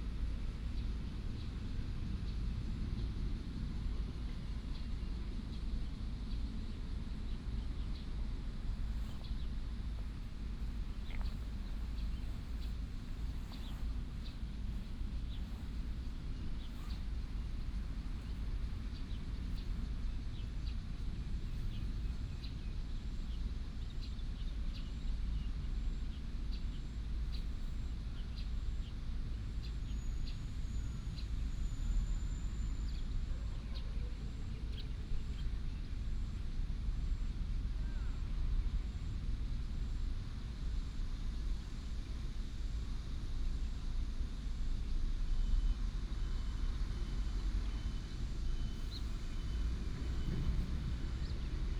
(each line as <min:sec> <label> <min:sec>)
0:08.5 traffic sound 0:23.8
0:08.7 birds sound 0:31.6
0:46.5 traffic sound 0:51.7
0:47.7 birds sound 0:51.7